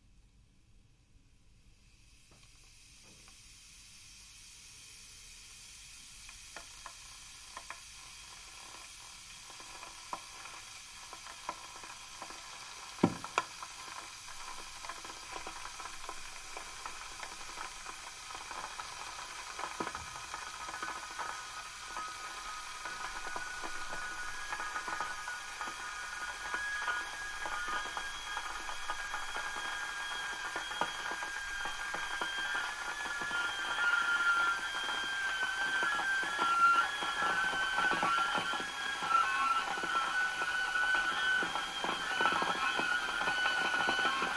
Electric kettle 0:01.7 - 0:44.3
boiling water 0:01.8 - 0:44.3
hissing 0:02.4 - 0:44.3

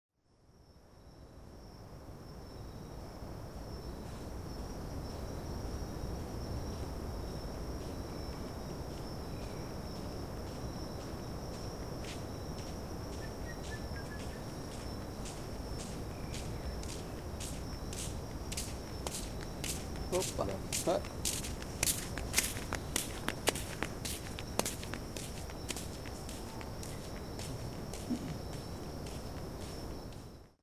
wind 0:00.2 - 0:30.6
several kinds of insects 0:00.2 - 0:30.6
walking by 0:04.0 - 0:30.5
voices 0:20.1 - 0:21.1
voices 0:27.4 - 0:28.5

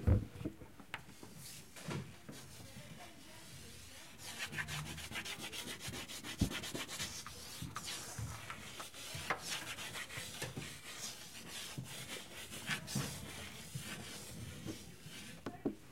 draws on the blackboard 0:02.3 - 0:15.8

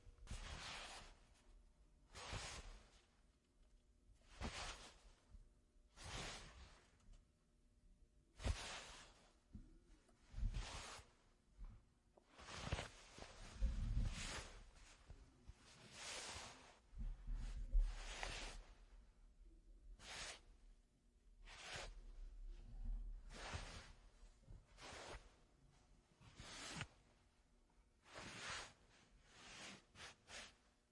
Cloth heavy movement 0:00.1 - 0:03.3
Cloth heavy movement 0:04.2 - 0:07.0
Cloth heavy movement 0:08.3 - 0:19.0
Cloth heavy movement 0:23.0 - 0:27.4

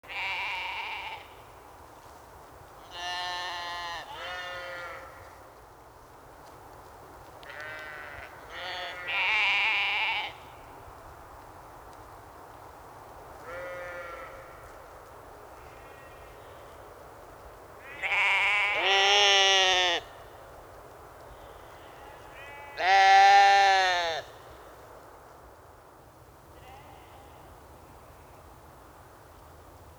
sheep restless at night 0:13.0 - 0:24.5

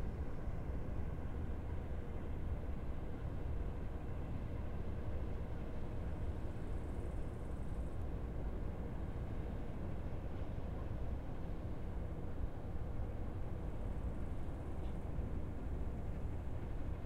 distant ferry drones 0:00.0 - 0:17.0

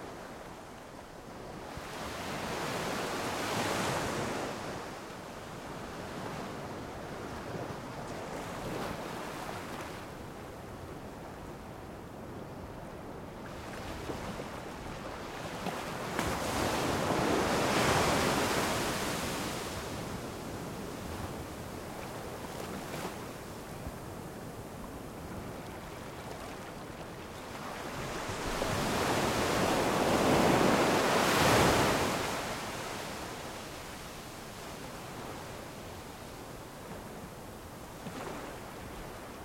waves on a beach 0:13.0 - 0:39.4

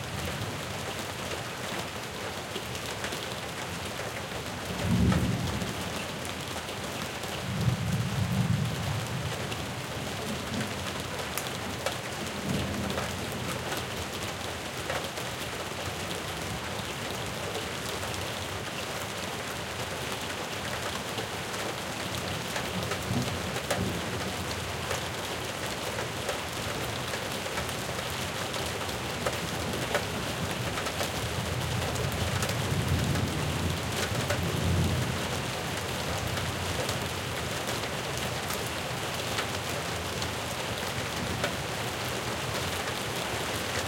Rain 0:00.0 - 0:43.8

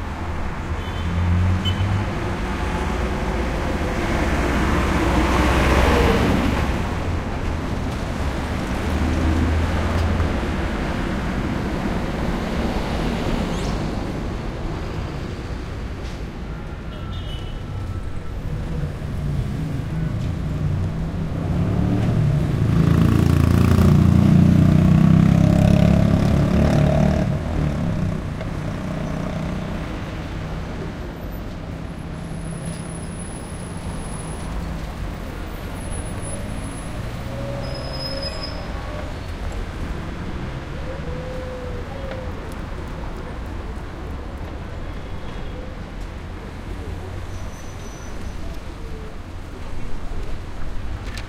pedestrians 0:00.0 - 0:51.2
slightly throaty vehicles 0:00.0 - 0:51.2
traffic medium busy intersection 0:00.0 - 0:51.2

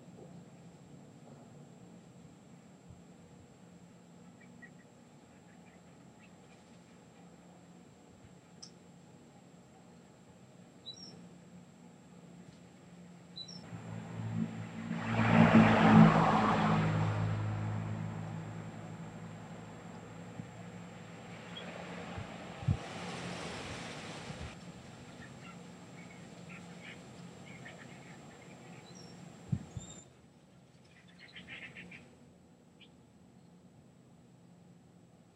birds 0:04.2 - 0:07.4
birds 0:10.8 - 0:11.3
cars 0:13.6 - 0:24.6
birds 0:25.0 - 0:32.2

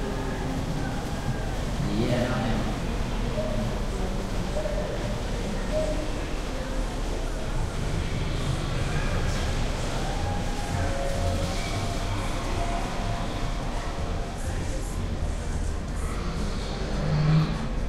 people 0:00.0 - 0:17.8

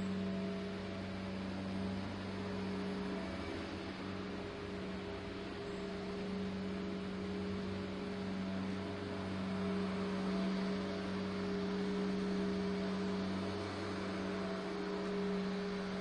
grass cutting 0:00.0 - 0:16.0

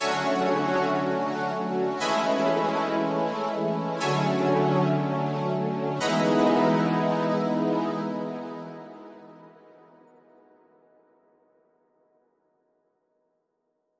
Synth 0:00.0 - 0:10.1

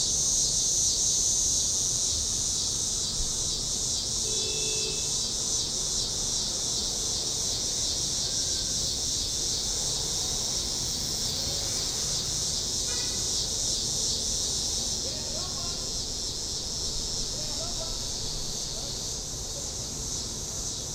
buzz of cicadas 0:00.0 - 0:20.9
traffic in the background 0:00.0 - 0:20.9

